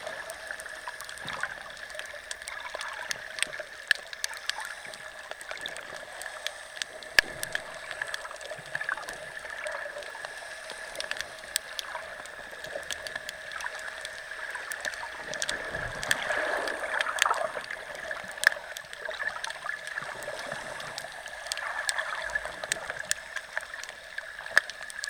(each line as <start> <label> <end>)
0.0 little fish 25.0